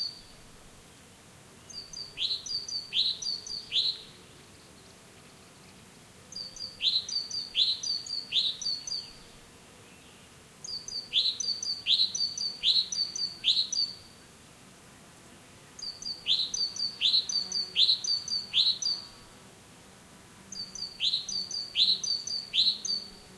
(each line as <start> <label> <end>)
0.0 insects buzzing 23.3
9.9 different birds singing 14.0
15.8 different birds singing 19.2
20.5 different birds singing 23.1